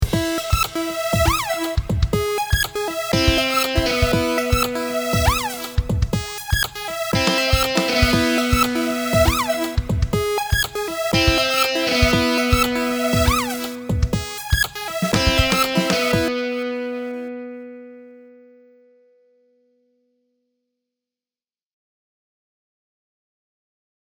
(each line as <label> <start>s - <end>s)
song 0.2s - 18.0s